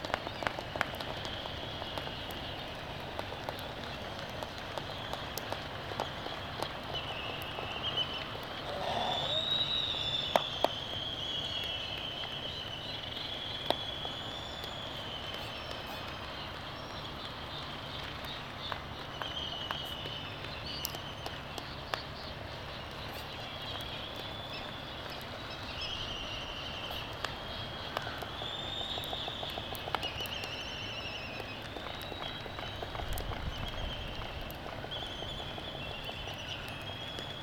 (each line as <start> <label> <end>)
7.2 white terns 9.8
8.4 laysan albatross 9.9
8.5 black-footed albatross 9.7
8.6 groaning 9.5
8.7 sky moo 9.5